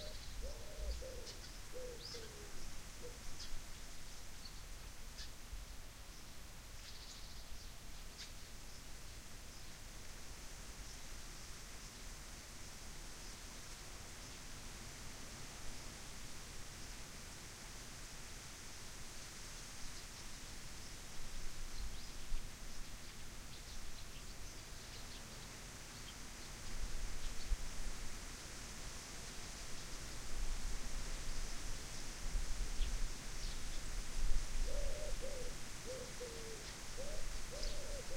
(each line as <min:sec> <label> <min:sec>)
0:00.0 birds 0:03.6
0:00.0 wind 0:38.1
0:34.6 birds 0:38.1